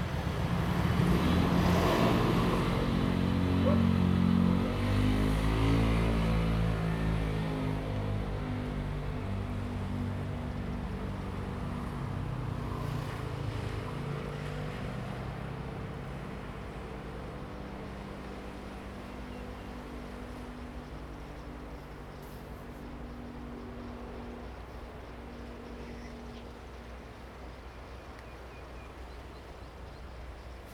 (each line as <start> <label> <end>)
0.0 traffic sound 30.7
0.0 waves 30.7
3.6 Dog barking 4.0
18.6 Birds sound 30.7